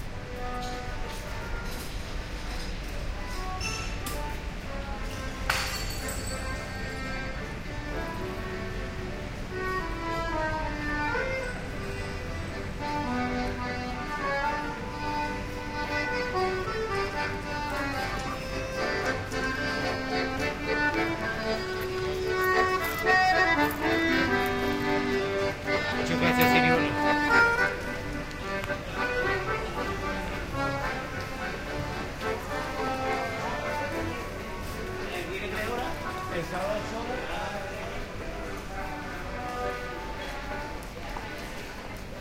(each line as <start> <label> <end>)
0.0 musician playing the accordion 42.2
0.0 pedestrian-only streetnoise 42.2
11.2 Voices 42.2